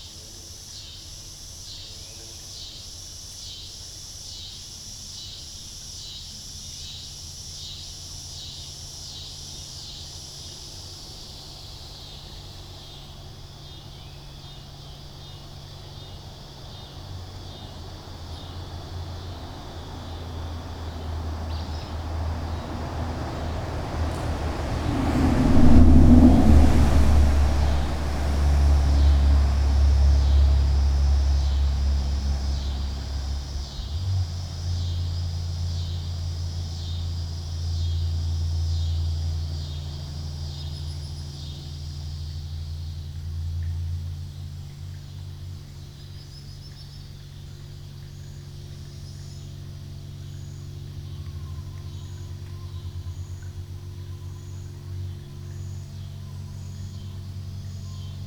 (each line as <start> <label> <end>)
0.0 evening cicada chorus 58.2
0.0 insects 58.2
0.0 small stream running through the large, open-ended concrete box 58.2
15.5 distant propeller planes 46.1
17.0 cars driving overhead 44.4